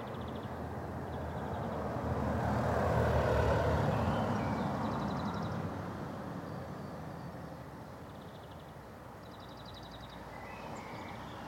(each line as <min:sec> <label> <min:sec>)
0:00.0 individual cars and lorries passing sporadically 0:11.4
0:08.1 birds singing 0:11.4